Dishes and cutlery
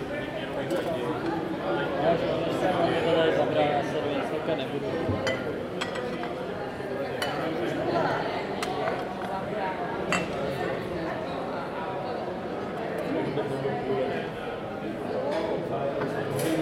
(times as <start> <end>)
5.2 6.4